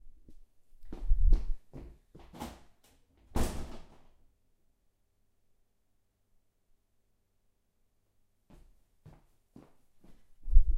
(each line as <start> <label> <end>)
3.4 slamming the front door 4.0